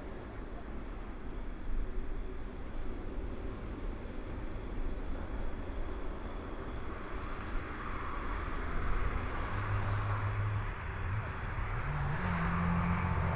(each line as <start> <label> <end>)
6.6 Traffic Sound 13.3